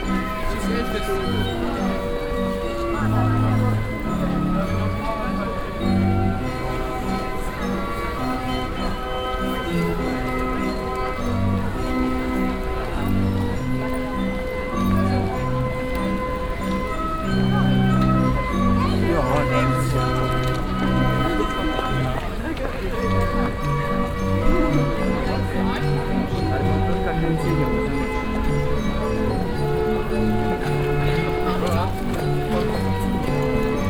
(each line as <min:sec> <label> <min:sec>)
0:00.0 klängen des leierkastenspielers 0:33.8
0:00.0 people 0:33.8